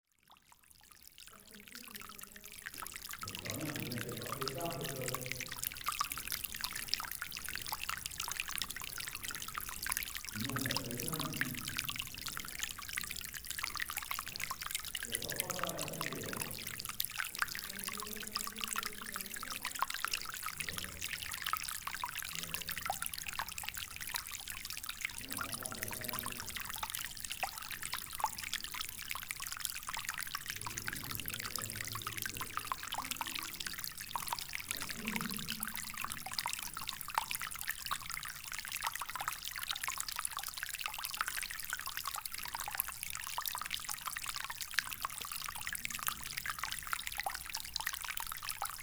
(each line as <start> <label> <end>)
0.9 small stream in a sloping tunel 48.8